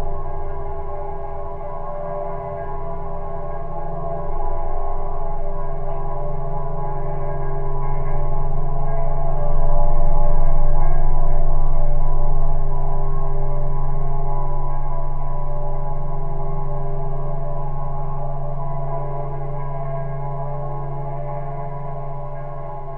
Drone is the tone 0:00.0 - 0:22.9

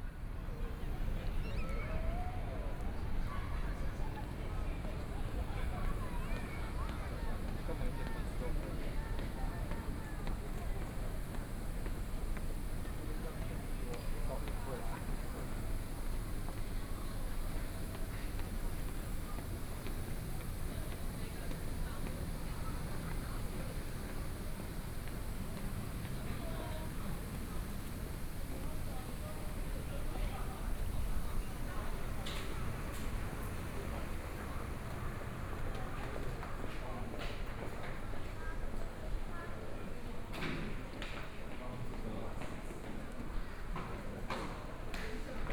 Walking through the station 0:00.0 - 0:45.5

